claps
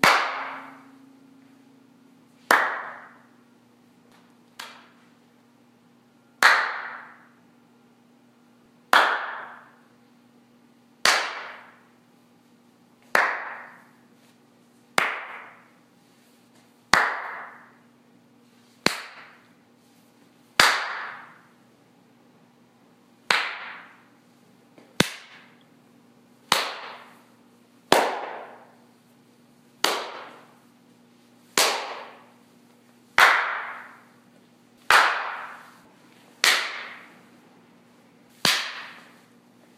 0.0s 0.9s, 2.4s 3.3s, 4.1s 5.0s, 6.4s 7.4s, 8.9s 9.8s, 11.0s 11.8s, 13.0s 13.9s, 15.0s 15.7s, 16.9s 17.8s, 18.8s 19.5s, 20.6s 21.4s, 23.3s 24.0s, 24.8s 25.6s, 26.5s 27.2s, 27.9s 28.8s, 29.8s 30.5s, 31.6s 32.3s, 33.2s 34.0s, 34.8s 35.8s, 36.4s 37.2s, 38.4s 39.2s

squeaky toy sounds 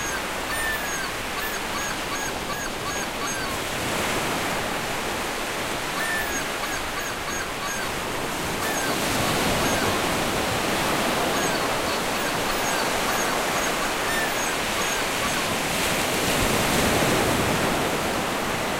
0.0s 3.5s, 6.0s 7.9s, 8.6s 9.9s, 11.3s 15.5s

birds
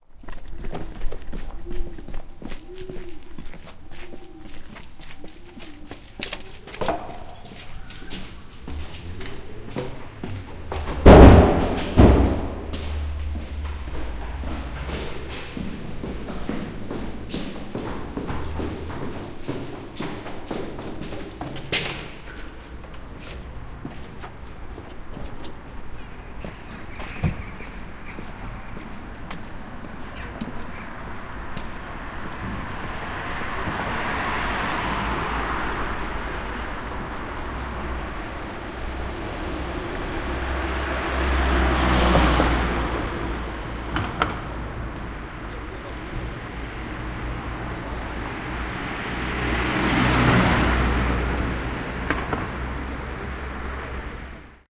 0.2s 10.8s, 25.8s 31.5s

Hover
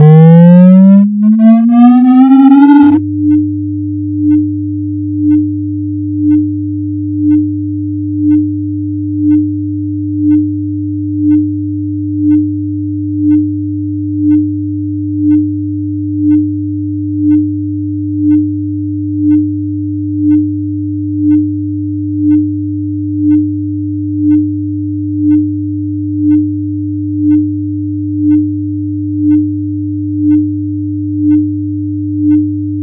0.0s 3.0s

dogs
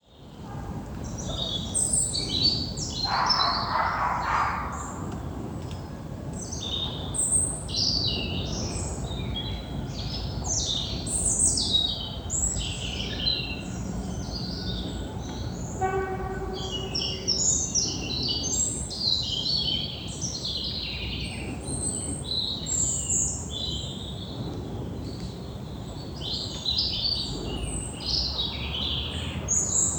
3.0s 5.2s

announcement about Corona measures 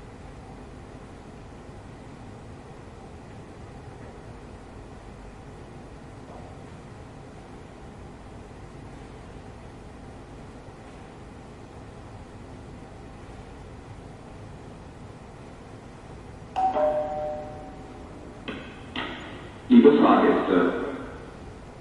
19.7s 21.2s

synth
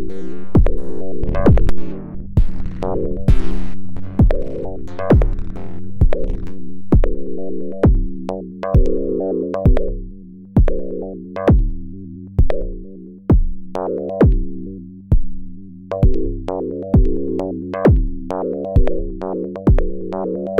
0.0s 12.8s

